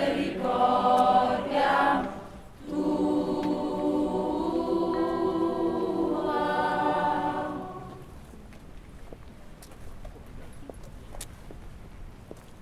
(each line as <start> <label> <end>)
0.0 procession 8.1
0.0 singing 8.2